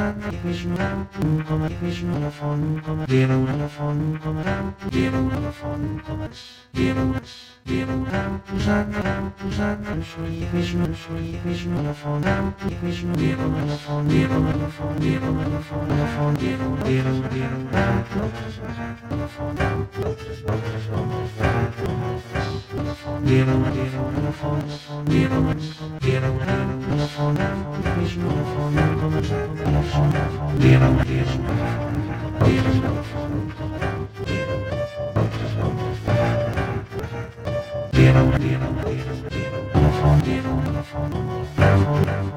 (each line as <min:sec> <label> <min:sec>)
0:12.2 piano chromatic scales 0:42.3